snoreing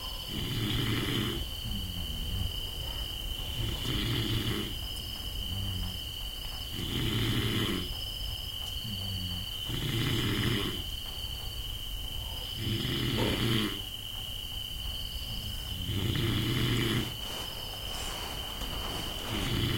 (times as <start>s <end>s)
0.0s 6.1s, 6.7s 8.0s, 8.8s 10.9s, 12.5s 13.9s, 15.4s 17.4s, 18.7s 19.7s